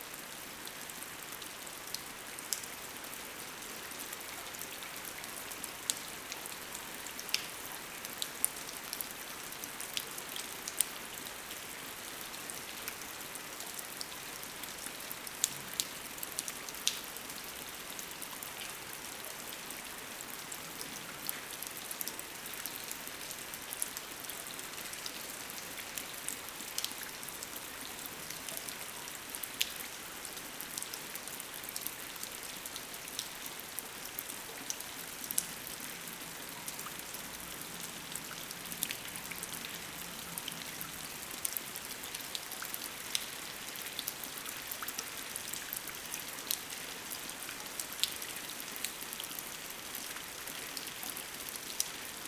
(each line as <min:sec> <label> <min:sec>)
0:00.0 Strong rain 0:52.2